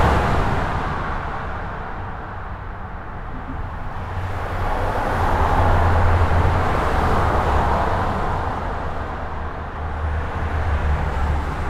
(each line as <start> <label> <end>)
0.0 very dense trafic on the local highway 11.6